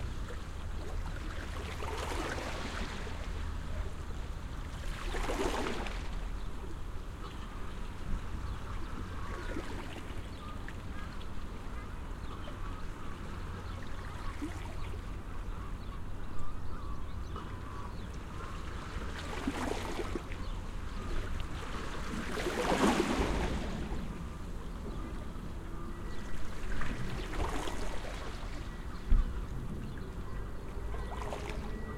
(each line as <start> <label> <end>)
0.0 Waves lapping 16.0
16.7 Waves lapping 31.9
23.4 traffic noise 31.9